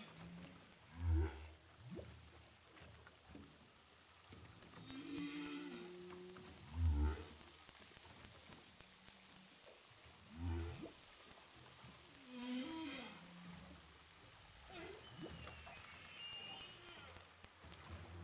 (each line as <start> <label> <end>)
12.2 Whales sound 13.3